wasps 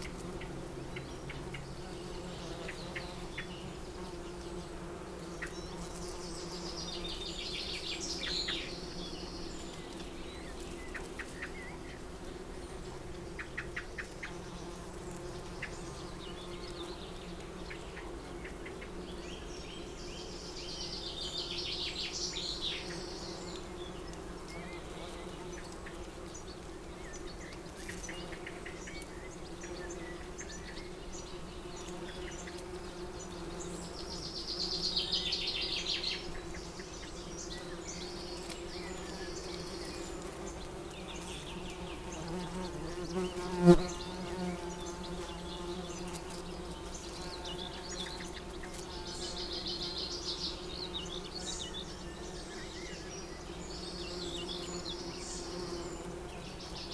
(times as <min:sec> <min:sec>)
0:37.5 0:51.4